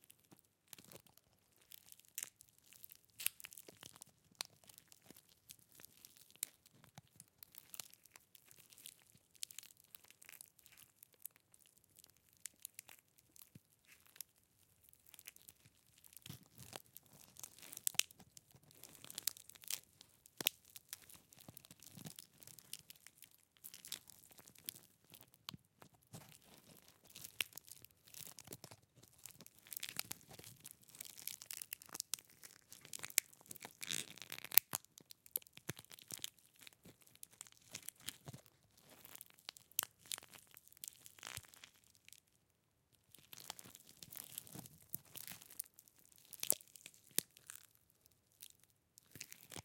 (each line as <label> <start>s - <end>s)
Crushing by hand a large seed pod 0.2s - 42.2s
Crushing by hand a large seed pod 43.1s - 49.6s